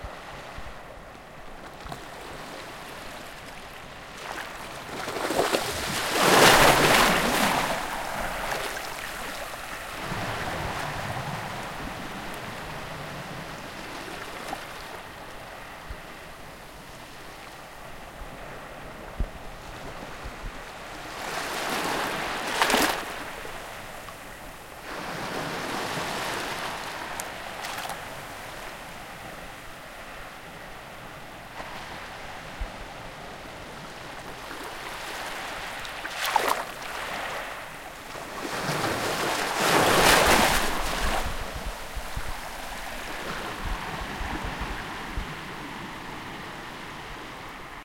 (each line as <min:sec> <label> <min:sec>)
0:01.7 Waves on Beach 0:47.8